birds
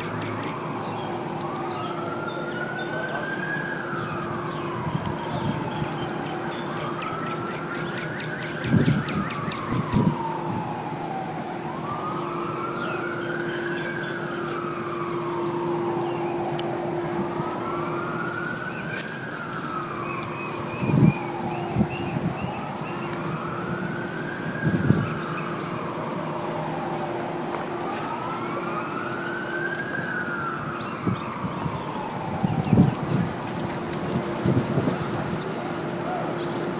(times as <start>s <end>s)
0.0s 10.3s, 11.8s 16.5s, 27.9s 36.7s